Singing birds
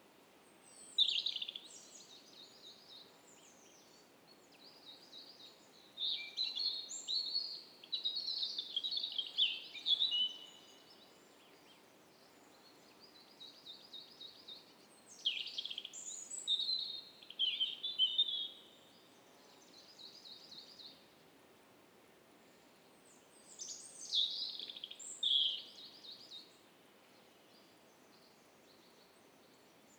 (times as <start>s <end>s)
23.5s 26.5s